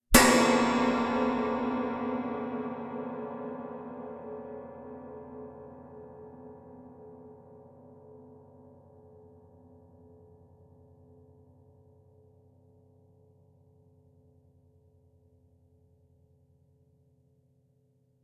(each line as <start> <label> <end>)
0.1 metal rod and hit an autoharp's strings 2.8